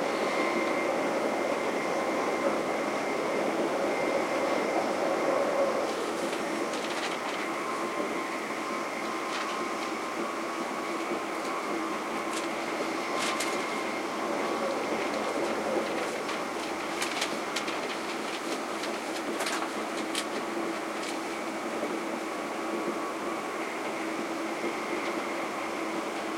train 0.0 - 26.3

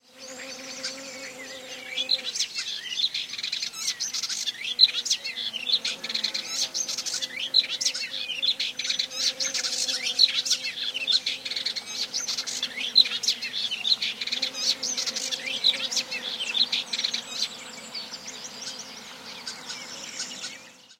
buzzing bee 0.0 - 2.5
buzzing bee 4.4 - 20.9

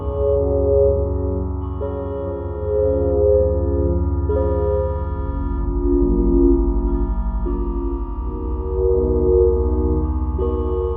chords played on a weird synth patch 0.0 - 10.9

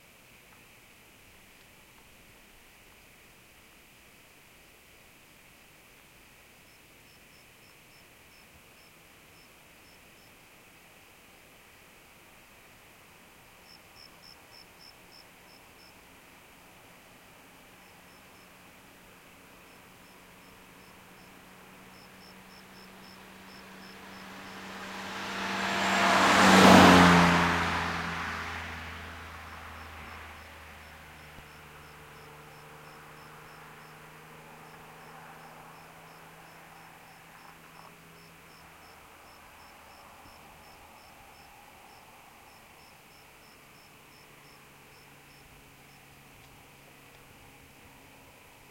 Car Fly by 20.3 - 48.4

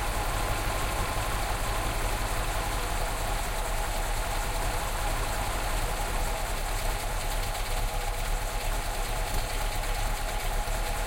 starts his 1975 Mercedes 450 SEL 6.9 liters 0.0 - 11.0

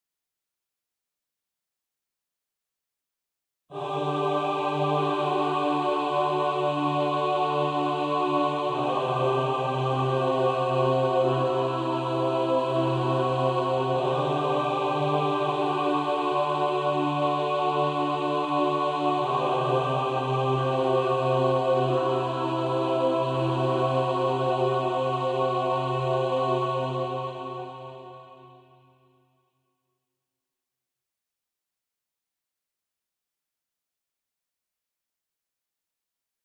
choir 3.7 - 29.4

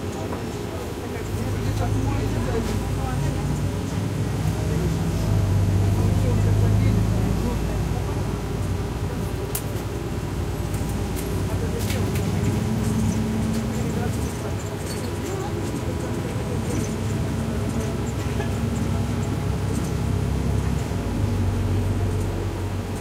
Trip in the bus 9.4 - 23.0

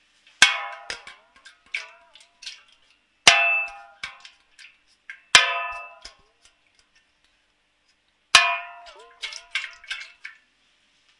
plashing 0.4 - 6.8
plashing 8.4 - 10.4

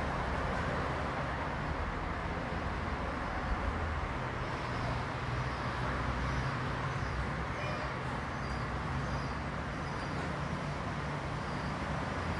Busy City Street 0.0 - 12.3

